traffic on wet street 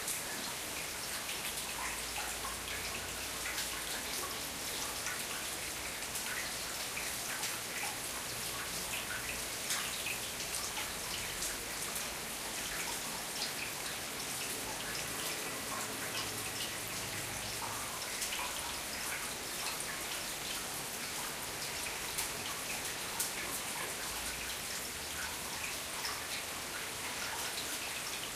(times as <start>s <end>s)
15.0s 17.8s